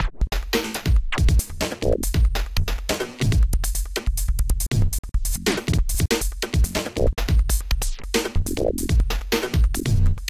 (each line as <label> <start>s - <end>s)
drums 0.0s - 10.2s